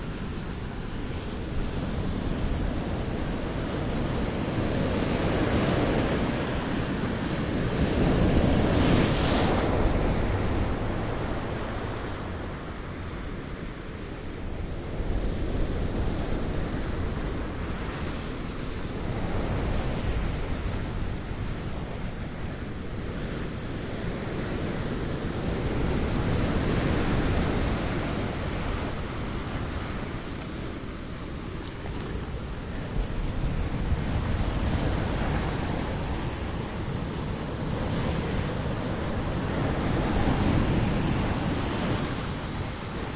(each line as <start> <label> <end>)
0.0 quiet to moderate waves on sand and rock beach 43.1